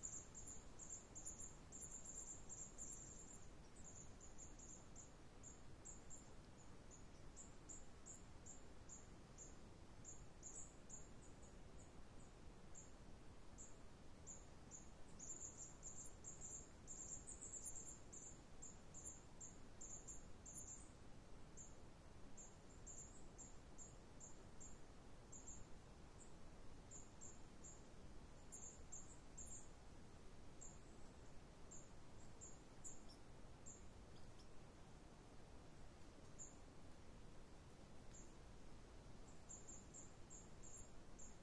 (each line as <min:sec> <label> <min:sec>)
0:00.0 Forest birds 0:41.4
0:00.0 light breeze 0:41.4